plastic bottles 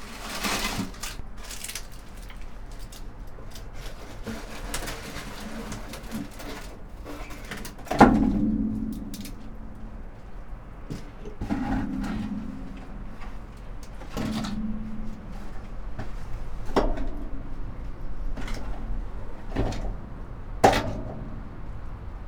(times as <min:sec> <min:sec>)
0:00.0 0:09.4